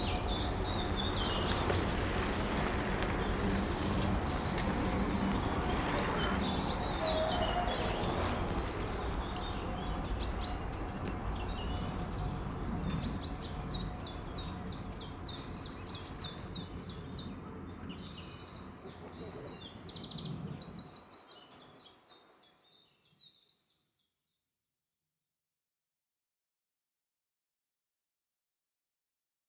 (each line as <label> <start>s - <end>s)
bikes and skaters passing by 0.0s - 22.0s